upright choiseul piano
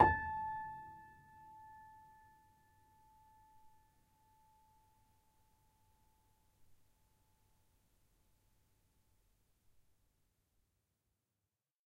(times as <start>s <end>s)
0.0s 1.0s